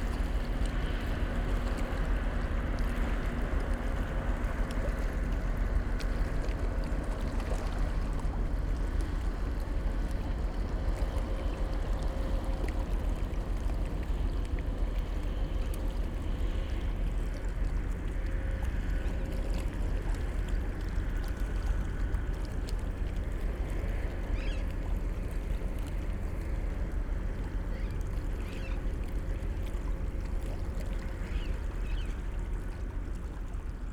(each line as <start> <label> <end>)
0.0 cargo ship is moving upstream 33.9